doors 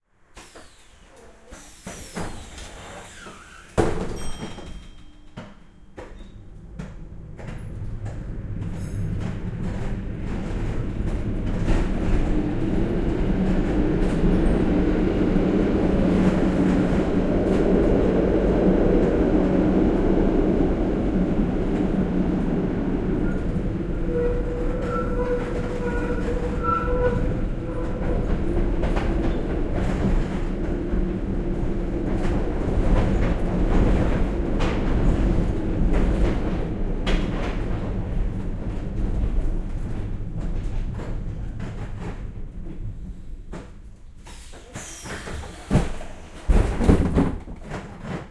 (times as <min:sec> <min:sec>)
0:00.3 0:12.4, 0:43.5 0:48.3